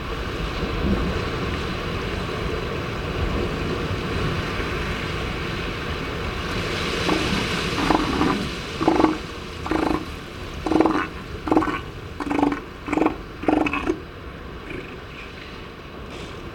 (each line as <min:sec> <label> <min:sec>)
0:06.9 elephant seals mothers and pups loafing on a rocky outcrop 0:15.5
0:07.0 peregrine calls 0:15.4